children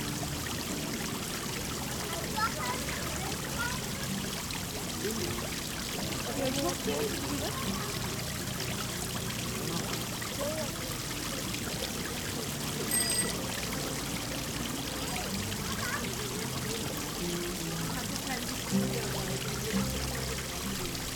1.8 4.8, 6.1 9.0, 10.4 20.5

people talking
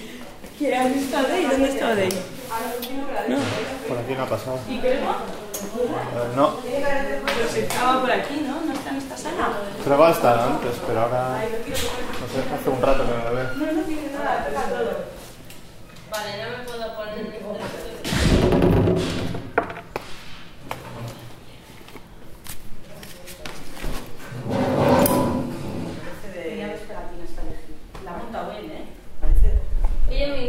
0.0 4.0

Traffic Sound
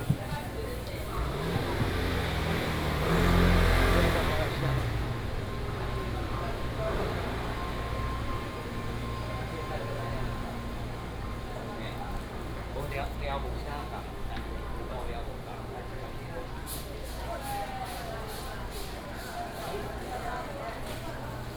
0.0 12.8

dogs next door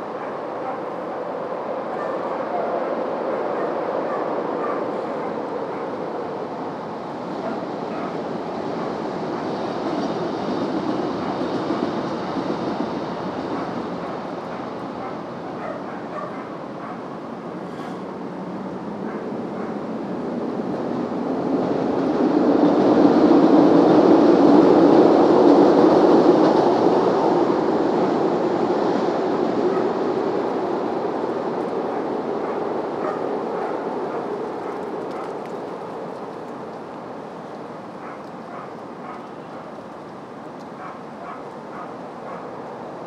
0.0 6.2, 13.5 18.1, 19.0 20.1, 31.7 42.8

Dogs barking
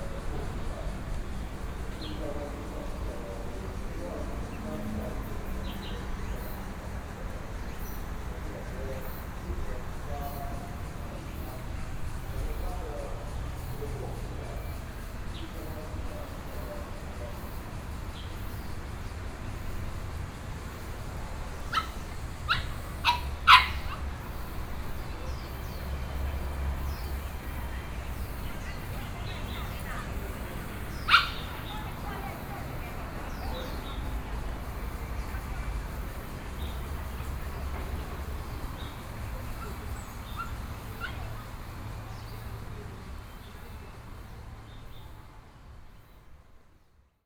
21.6 24.9, 29.4 32.6, 39.5 41.5

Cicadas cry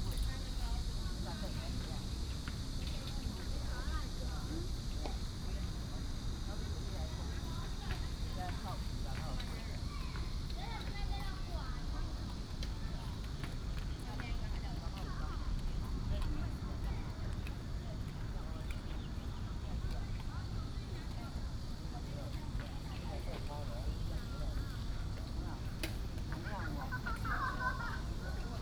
17.6 28.6

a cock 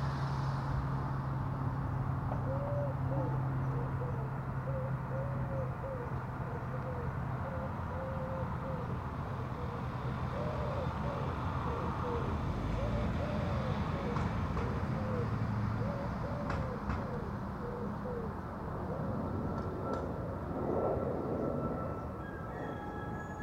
22.2 23.4

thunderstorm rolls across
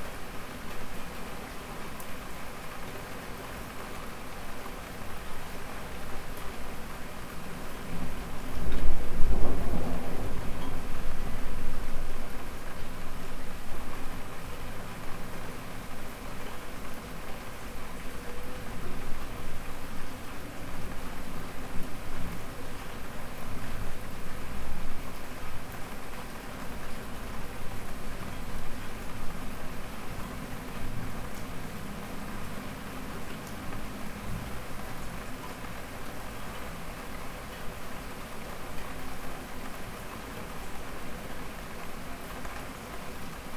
8.5 12.8

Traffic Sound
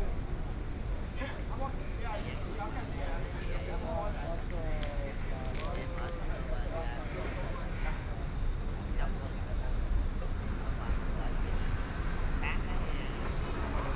10.4 13.9

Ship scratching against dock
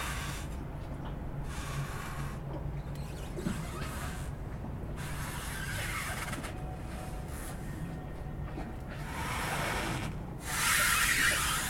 5.0 7.7

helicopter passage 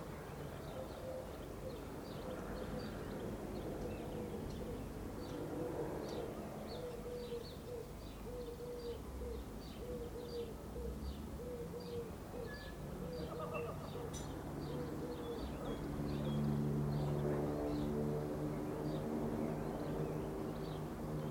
15.8 21.2

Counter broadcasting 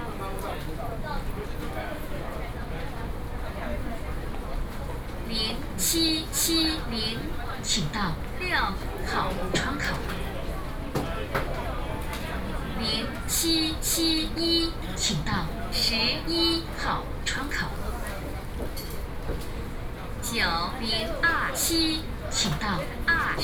5.3 10.0, 12.7 17.8, 20.2 23.4

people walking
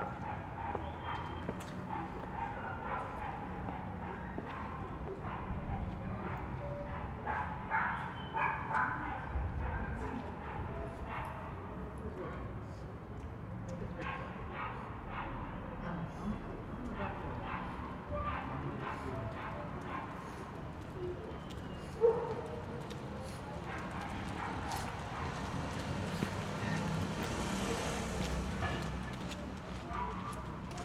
0.6 2.4, 19.0 30.8

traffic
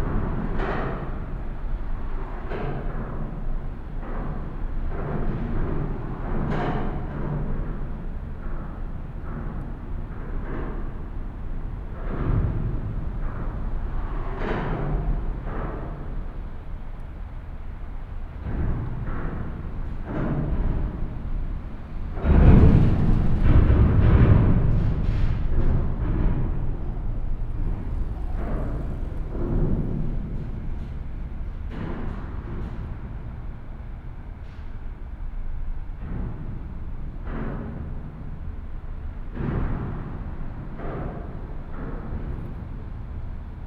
26.6 31.7

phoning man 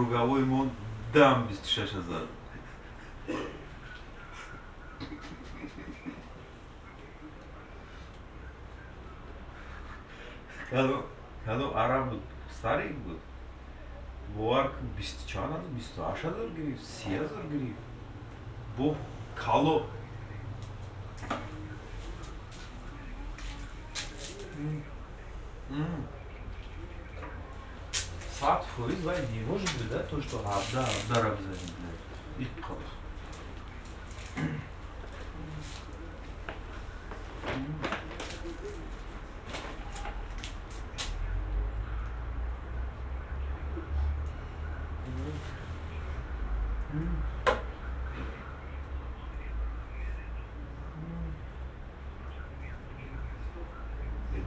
16.9 41.8

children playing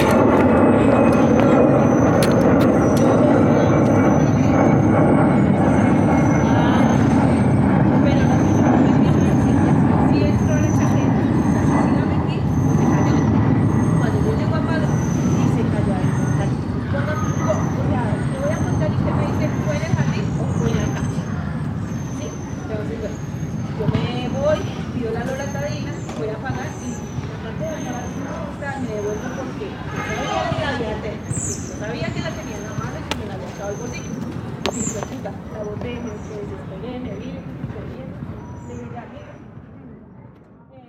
20.6 23.5

